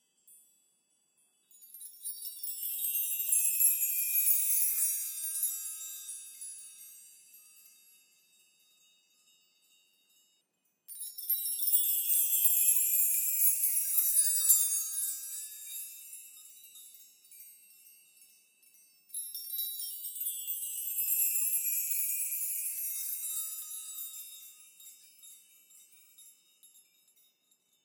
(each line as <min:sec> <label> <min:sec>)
0:00.0 chime bar made from various size house keys 0:27.8